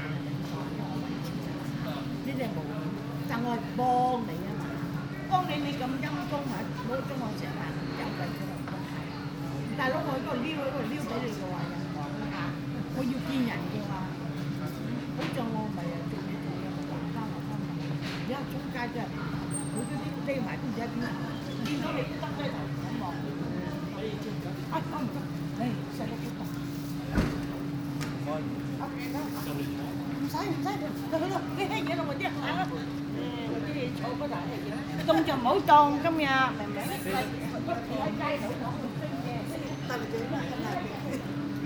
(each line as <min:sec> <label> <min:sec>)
0:00.0 Asian people talking loudly 0:41.6
0:00.0 quiet street ambiance 0:41.6